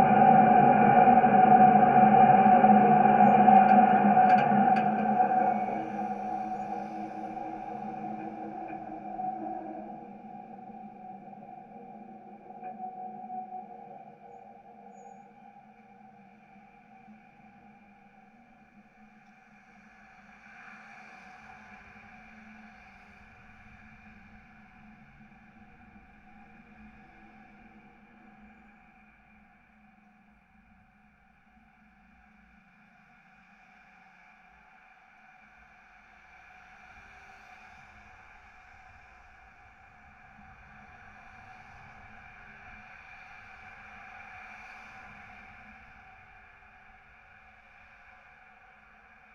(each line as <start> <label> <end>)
0.0 Vibrations in the elevated structure as a UBahn train passes 18.8